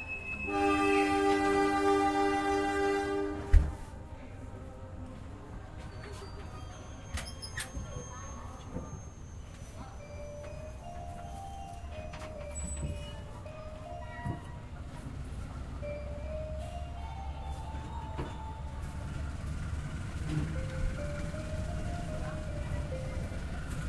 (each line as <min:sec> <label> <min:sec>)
0:00.0 station's announcement tone 0:03.4
0:00.0 Train leaves 0:23.8
0:05.8 station's announcement tone 0:23.8